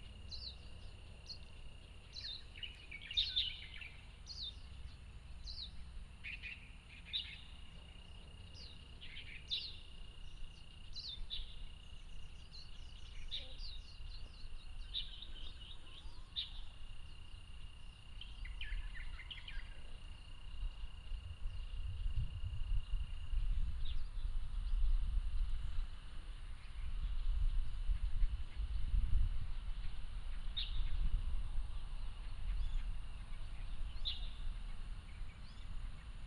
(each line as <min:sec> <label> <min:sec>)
0:00.0 Insect sounds 0:36.2